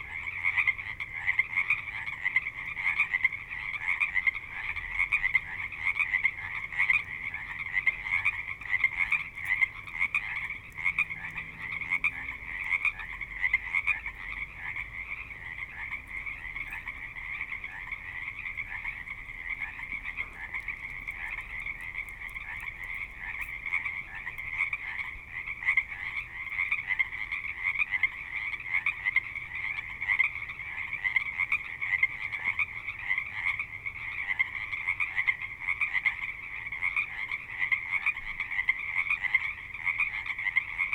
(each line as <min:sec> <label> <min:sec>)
0:00.0 Frogs 0:40.9